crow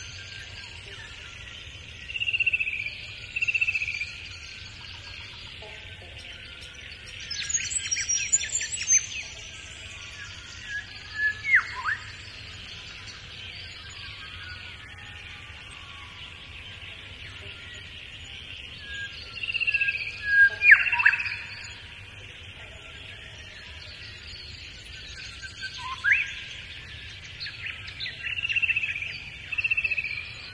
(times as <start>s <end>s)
13.9s 16.6s